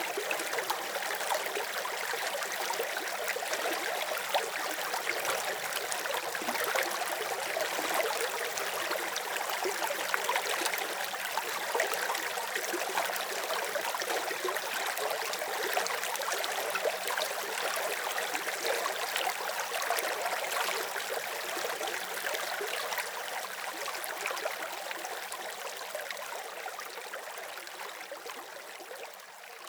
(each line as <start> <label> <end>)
0.0 small stream is flowing 29.6